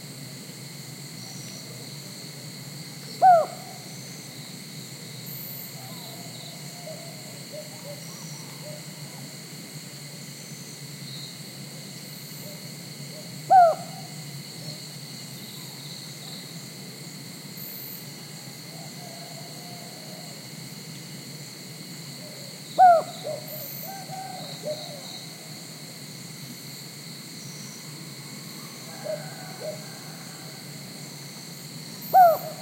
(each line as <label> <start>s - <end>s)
cicadas 0.0s - 32.6s
unknown bird (seems like cuckoo) 3.0s - 4.0s
unknown bird (seems like cuckoo) 5.7s - 9.3s
unknown bird (seems like cuckoo) 12.4s - 14.8s
unknown bird (seems like cuckoo) 18.3s - 20.4s
unknown bird (seems like cuckoo) 22.2s - 25.4s
unknown bird (seems like cuckoo) 28.8s - 30.6s
rooster 28.9s - 30.6s
unknown bird (seems like cuckoo) 32.0s - 32.6s